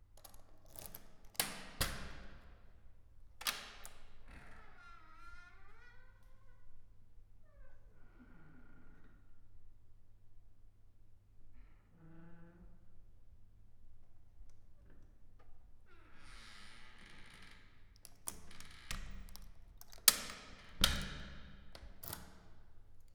lock 0:00.2 - 0:02.4
lock 0:03.4 - 0:04.1
Attic door opening and closing 0:16.2 - 0:22.8
lock 0:18.0 - 0:22.6

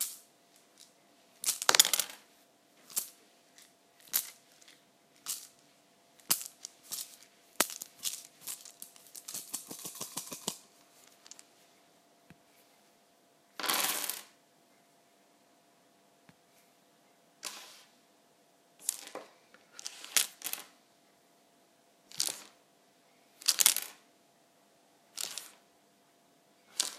manipulating small wooden scrabble tiles 0:06.2 - 0:11.5

